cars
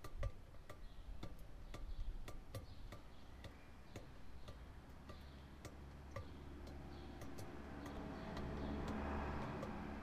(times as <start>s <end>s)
5.1s 10.0s